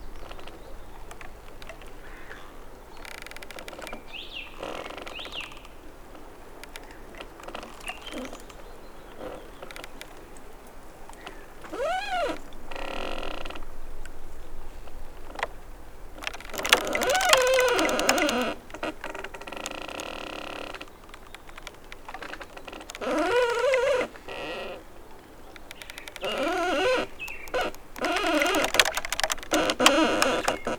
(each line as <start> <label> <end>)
0.0 damaged tree swaying in the wind 30.7